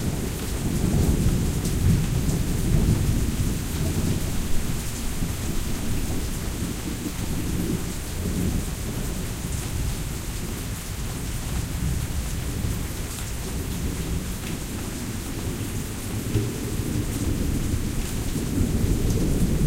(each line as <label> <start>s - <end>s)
Heavy-Thunder 0.0s - 10.6s
Heavy-Thunder 15.5s - 19.6s